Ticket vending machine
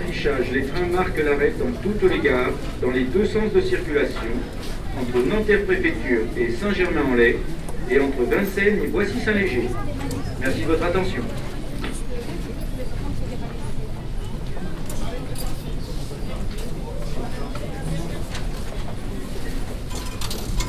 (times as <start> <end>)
17.8 20.6